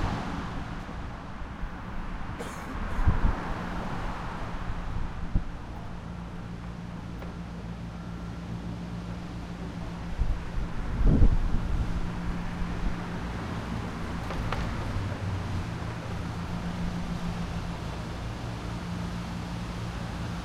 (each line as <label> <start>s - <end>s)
wind noise 0.0s - 6.1s
traffic 0.0s - 20.4s
wind noise 10.0s - 17.7s